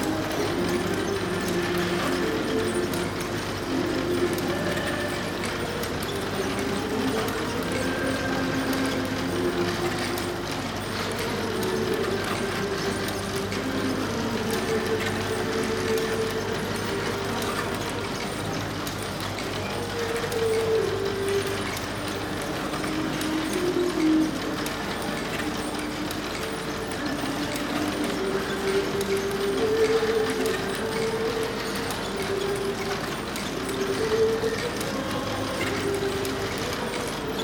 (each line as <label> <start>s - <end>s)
small mechanical figurines that dance and pray 0.0s - 37.4s